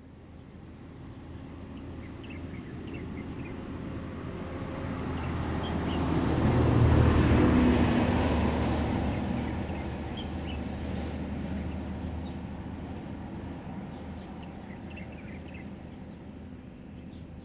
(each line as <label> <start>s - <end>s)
Birds 13.9s - 17.4s